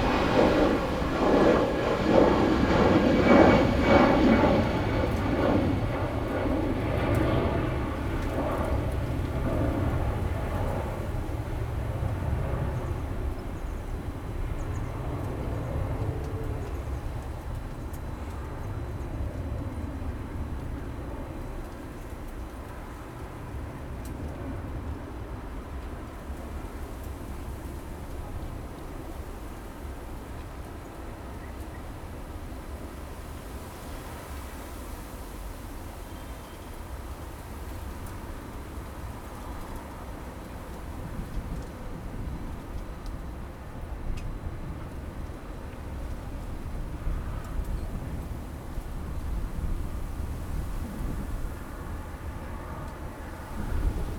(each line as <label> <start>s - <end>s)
wind 0.0s - 54.1s